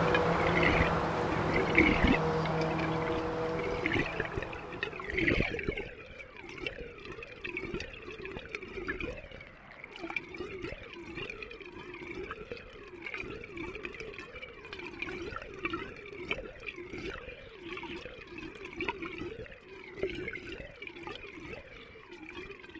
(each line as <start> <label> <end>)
0.0 traffic sound 5.4